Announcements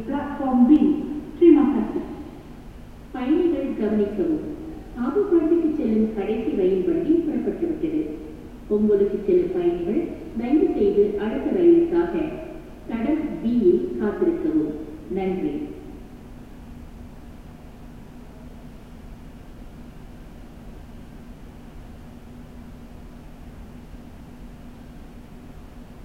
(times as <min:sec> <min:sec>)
0:00.0 0:02.4, 0:03.2 0:15.8